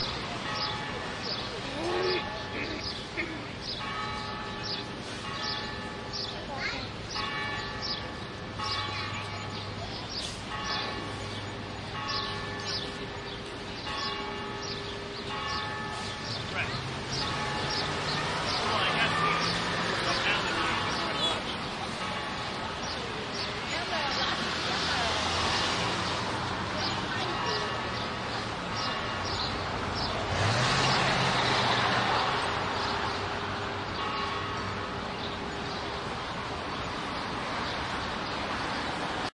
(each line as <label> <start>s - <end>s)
church bell ringing 0.0s - 23.9s
church bell ringing 27.1s - 30.2s
church bell ringing 32.1s - 36.6s